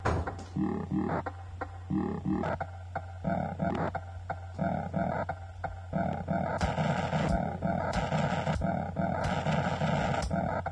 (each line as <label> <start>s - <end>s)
glitch 0.5s - 10.7s